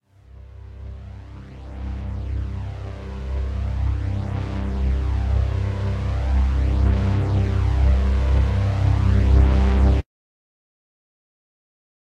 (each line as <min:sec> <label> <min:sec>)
0:00.5 Synth 0:10.0